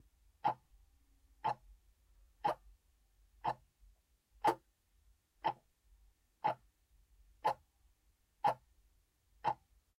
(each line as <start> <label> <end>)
0.4 Alarm clock ticking 0.6
1.4 Alarm clock ticking 1.6
2.4 Alarm clock ticking 2.6
3.4 Alarm clock ticking 3.7
4.4 Alarm clock ticking 4.6
5.4 Alarm clock ticking 5.6
6.4 Alarm clock ticking 6.7
7.4 Alarm clock ticking 7.6
8.4 Alarm clock ticking 8.6
9.4 Alarm clock ticking 9.7